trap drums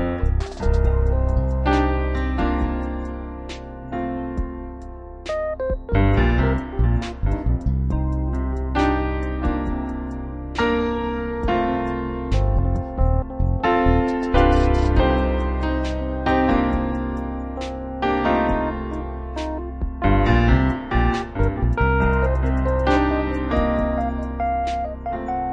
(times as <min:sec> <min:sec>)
0:00.0 0:03.0, 0:11.4 0:17.0, 0:21.1 0:25.5